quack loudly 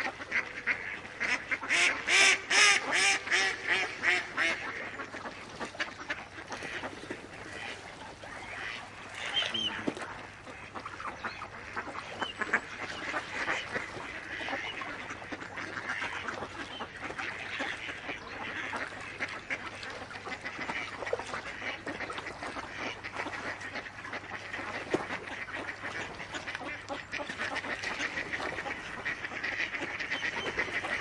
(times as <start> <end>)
0.0 5.0